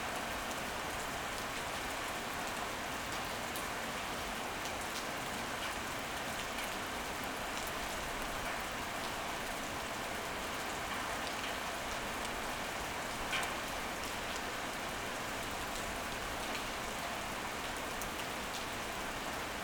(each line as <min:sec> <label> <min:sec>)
0:00.0 rain 0:19.6